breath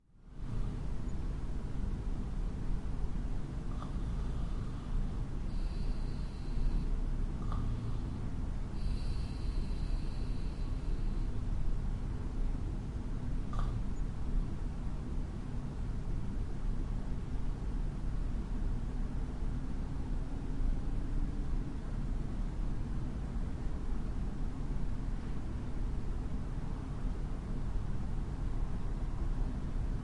0:03.7 0:11.5

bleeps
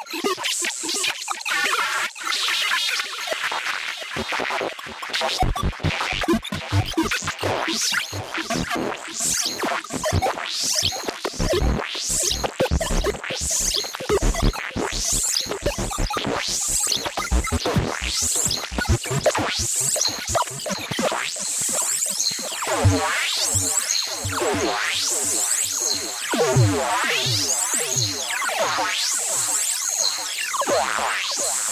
0:22.8 0:24.4

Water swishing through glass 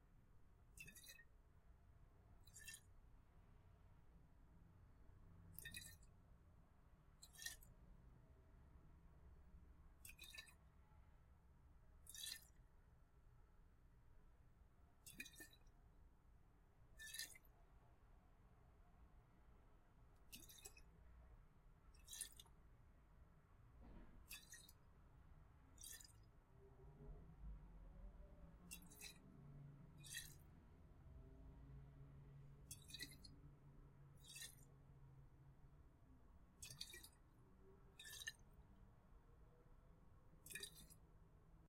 0:00.7 0:01.4, 0:02.4 0:03.0, 0:05.5 0:06.1, 0:07.2 0:07.8, 0:10.0 0:10.7, 0:12.0 0:12.6, 0:15.0 0:15.7, 0:16.9 0:17.5, 0:20.2 0:21.0, 0:21.8 0:22.6, 0:24.2 0:24.9, 0:25.7 0:26.3, 0:28.2 0:30.5, 0:32.6 0:33.4, 0:34.1 0:34.8, 0:36.6 0:38.6, 0:40.4 0:41.1

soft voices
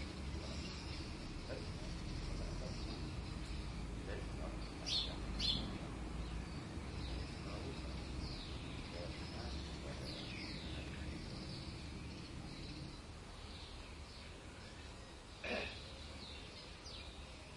0:01.5 0:13.6, 0:14.2 0:16.1

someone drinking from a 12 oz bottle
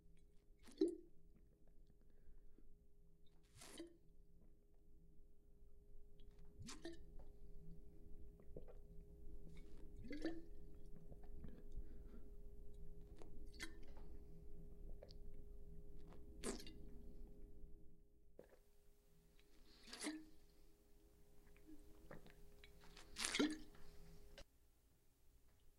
0:00.6 0:01.0, 0:03.5 0:03.9, 0:06.5 0:07.3, 0:08.4 0:08.8, 0:09.4 0:14.2, 0:16.0 0:17.0, 0:19.4 0:20.5, 0:21.4 0:24.4

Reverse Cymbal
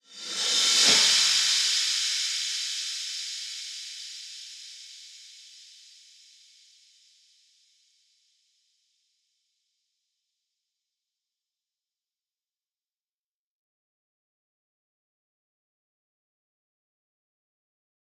0:00.0 0:08.0

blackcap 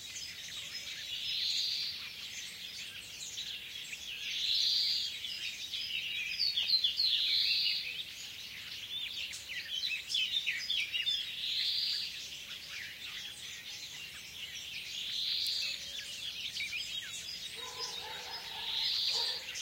0:08.1 0:19.6

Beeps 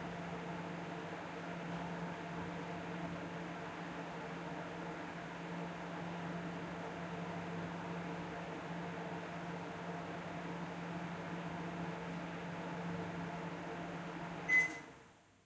0:14.5 0:14.8

